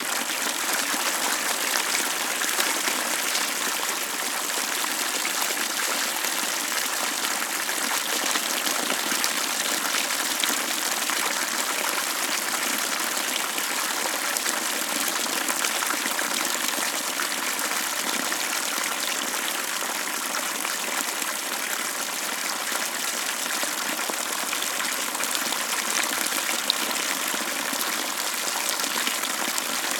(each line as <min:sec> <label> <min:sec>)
0:00.0 Loud Small Stream 0:29.9